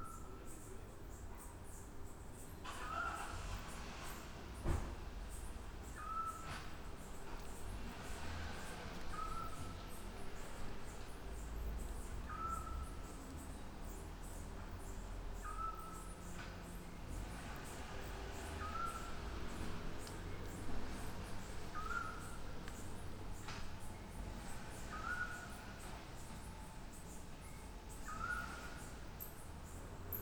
0.0s crickets 30.2s
1.9s cars 30.2s
12.3s small owl 13.0s

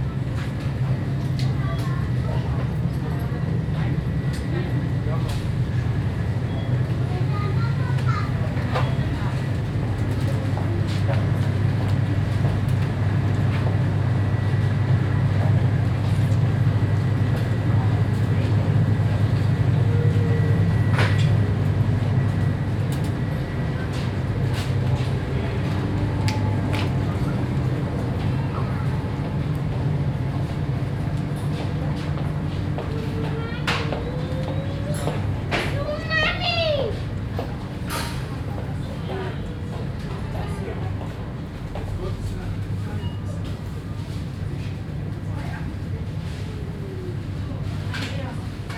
0.0s seep hum of the refrigerators 48.7s
0.1s voices 48.7s

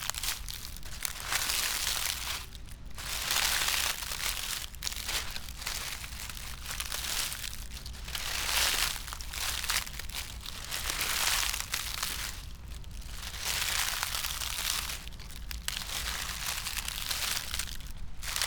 0.0s dry poplar leaves, steps 18.4s

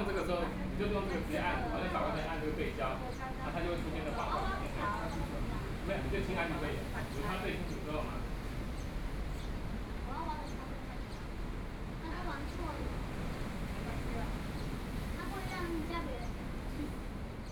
0.0s waves 17.5s

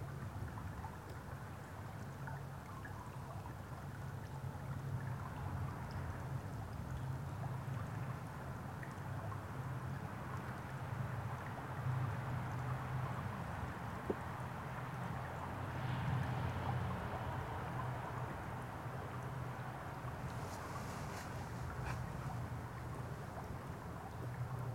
0.0s Gurgling creek beneath massive temporary timber roadway 24.7s

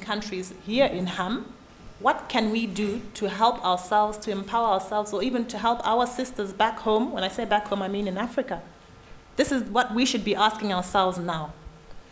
0.0s speech 8.8s
9.4s speech 11.8s

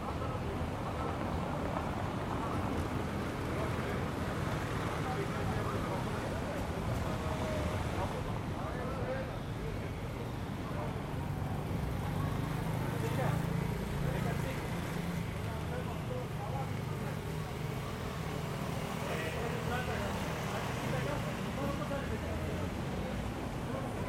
0.0s Mild traffic 24.0s
0.0s people passing by, talking 24.0s

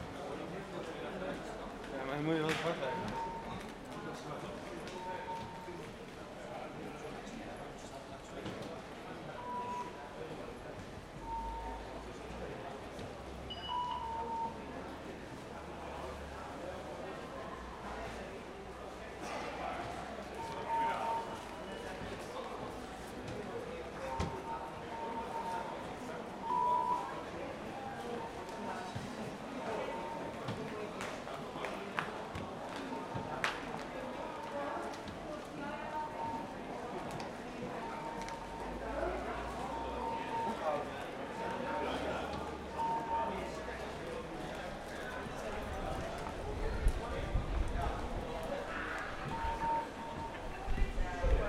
2.8s rfid ticket beep 3.7s
4.9s rfid ticket beep 5.7s
11.2s rfid ticket beep 12.0s
13.5s rfid ticket beep 14.7s
20.4s rfid ticket beep 21.9s
26.4s rfid ticket beep 28.6s
37.7s rfid ticket beep 38.9s
39.6s rfid ticket beep 40.8s
42.6s rfid ticket beep 43.5s
49.2s rfid ticket beep 50.6s

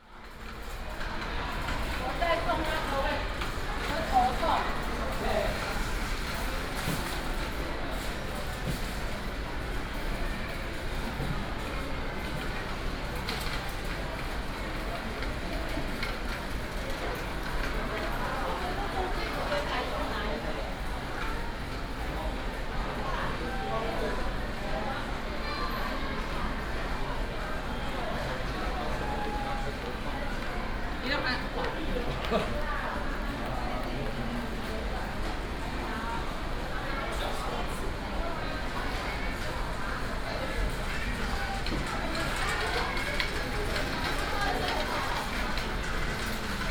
0.2s trolley 23.5s
24.2s trolley 46.7s

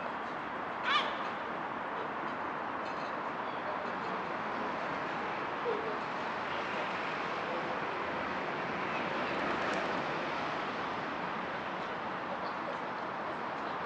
0.0s vehicles driving in the area 13.8s

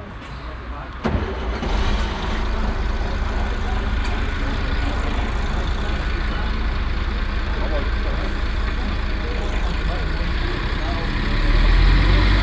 0.0s bus starting and departing 12.4s
0.0s voices of the frequenters standing in front 12.4s

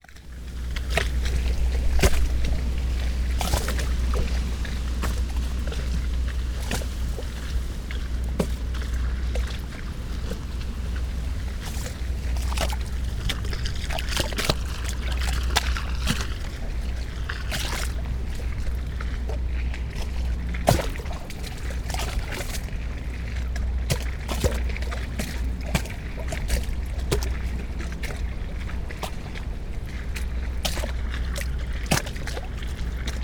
0.0s waves 33.2s
0.1s wind through mourning willow tree 23.9s

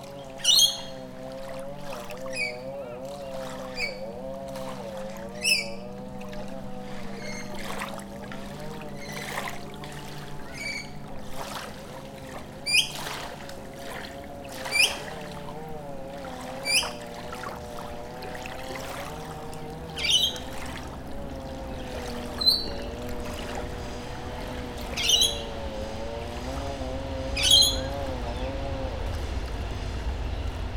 0.0s Noisy Miners call in the surrounding trees 7.7s
0.0s people trim their lawns 29.0s
0.0s Waves softly lap 30.7s
0.0s motorboats rush across the water 30.7s
0.1s Rainbow Lorikeets 1.2s
1.9s Rainbow Lorikeets 4.2s
5.3s Rainbow Lorikeets 6.1s
10.3s Noisy Miners call in the surrounding trees 11.2s
11.0s trains drone from above 30.7s
12.4s Noisy Miners call in the surrounding trees 13.4s
12.5s Rainbow Lorikeets 13.4s
14.2s Noisy Miners call in the surrounding trees 28.9s
14.4s Rainbow Lorikeets 15.4s
16.4s Rainbow Lorikeets 17.9s
19.7s Rainbow Lorikeets 21.0s
21.6s Rainbow Lorikeets 26.4s
27.1s Rainbow Lorikeets 28.7s

